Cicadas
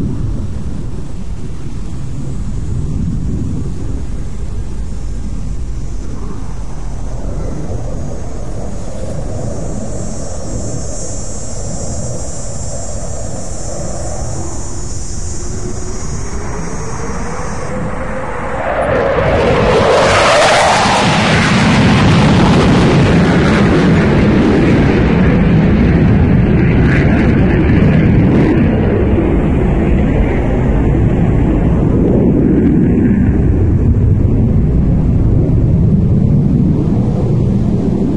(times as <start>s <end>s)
0.0s 22.4s